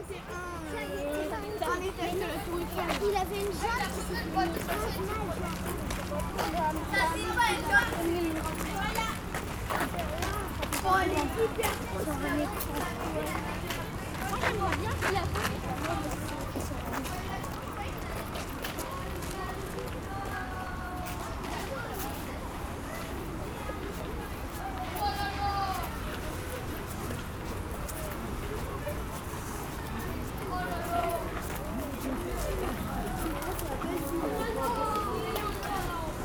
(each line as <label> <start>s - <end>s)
group of children is climbing the stairs 0.0s - 36.2s
people is going inside 0.0s - 36.2s